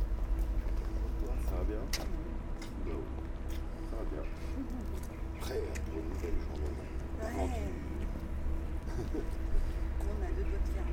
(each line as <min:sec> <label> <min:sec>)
0:00.0 train 0:02.4
0:06.8 train 0:10.9